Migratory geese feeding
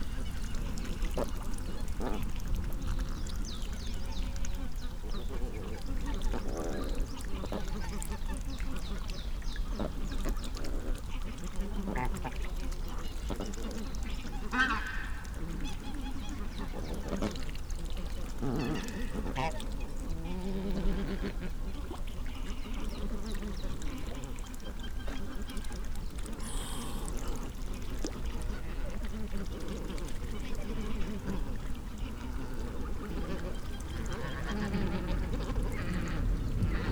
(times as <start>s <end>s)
13.1s 17.5s, 22.6s 36.9s